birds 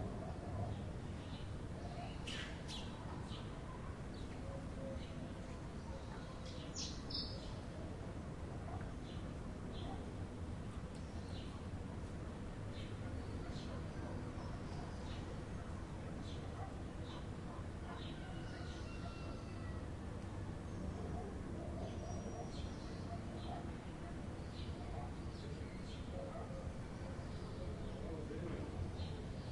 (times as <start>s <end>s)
8.6s 10.1s, 12.7s 29.5s